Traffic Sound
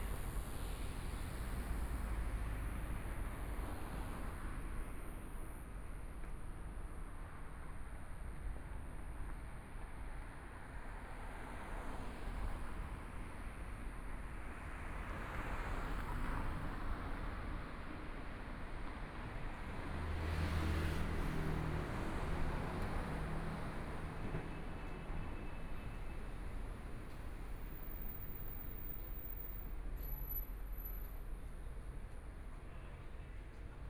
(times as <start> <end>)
10.7 33.8